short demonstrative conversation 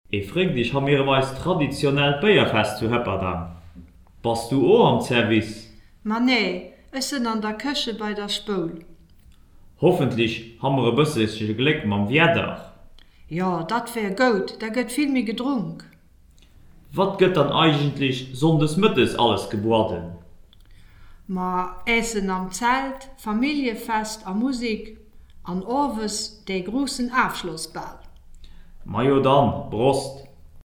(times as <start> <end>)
16.8 20.4, 21.3 28.2